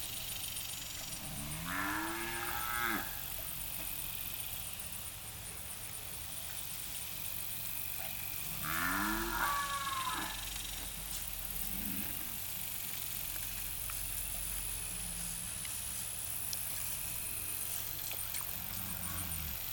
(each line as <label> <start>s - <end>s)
Cows 0.9s - 4.2s
Cows 7.9s - 19.7s